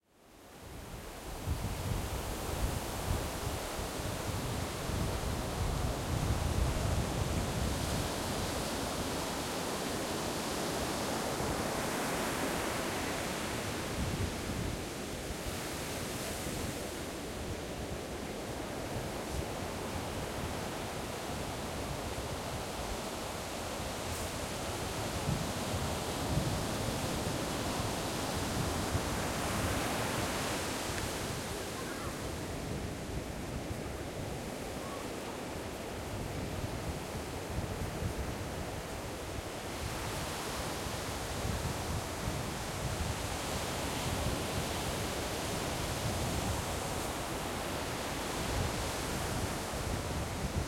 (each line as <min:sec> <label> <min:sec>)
0:00.5 Beach waves, close up 0:50.6